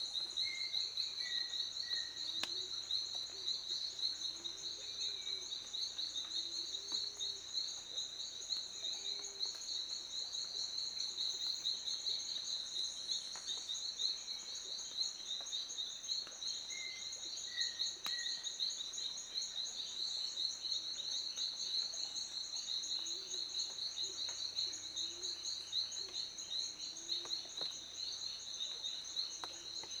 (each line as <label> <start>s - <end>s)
persistent insects 0.0s - 30.0s
Water drops fall on leaves 2.3s - 3.2s